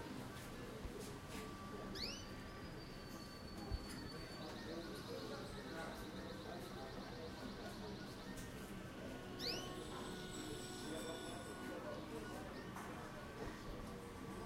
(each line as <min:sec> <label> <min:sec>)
0:00.0 people 0:14.4
0:01.6 bird 0:11.4